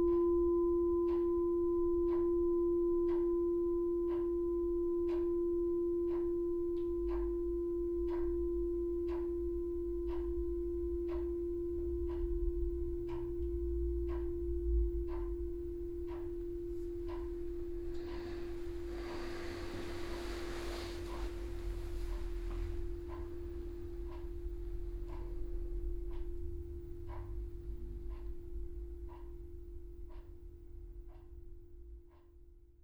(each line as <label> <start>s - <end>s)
electric heater buzzes and clicking 0.0s - 32.6s
clock 1.0s - 1.4s
clock 2.0s - 2.4s
clock 3.0s - 3.4s
clock 4.0s - 32.4s
fading sound of the meditation bell 10.6s - 26.8s